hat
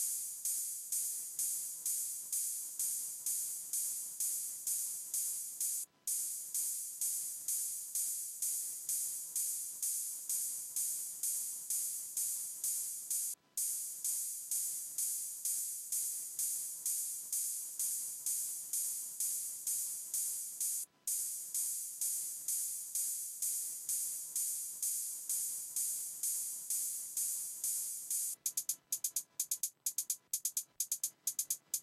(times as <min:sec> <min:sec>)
0:17.4 0:31.8